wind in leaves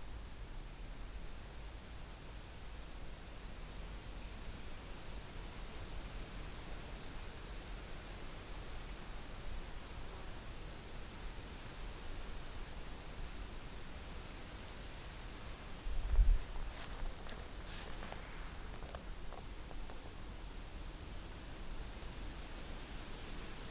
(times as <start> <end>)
7.5 23.7